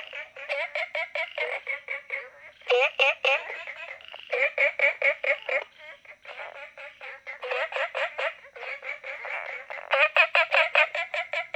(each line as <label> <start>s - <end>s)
Frogs chirping 0.0s - 11.5s